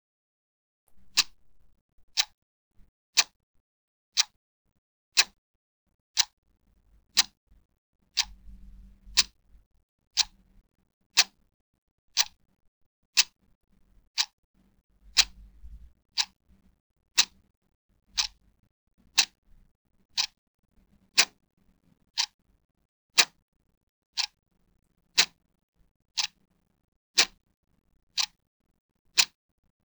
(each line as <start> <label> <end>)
0.9 ticking of the Clock 2.3
8.2 ticking of the Clock 8.4
12.2 ticking of the Clock 12.4
15.1 ticking of the Clock 15.4
18.2 ticking of the Clock 18.4
19.2 ticking of the Clock 19.4
25.2 ticking of the Clock 25.4
27.2 ticking of the Clock 27.4
28.2 ticking of the Clock 28.4